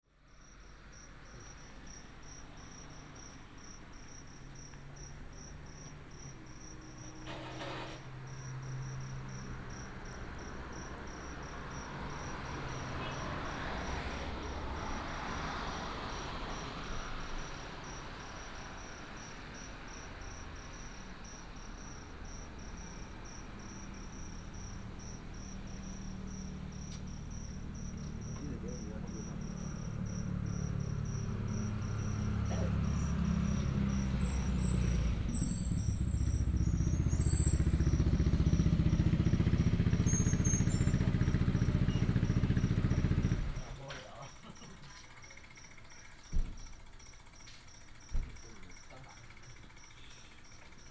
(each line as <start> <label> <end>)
0.1 traffic sound 50.9
17.4 Insect beeps 41.1
26.8 heavy motorcycle enthusiasts gather here to chat 34.5
35.9 heavy motorcycle enthusiasts gather here to chat 46.6
44.5 Insect beeps 50.9
47.4 heavy motorcycle enthusiasts gather here to chat 50.8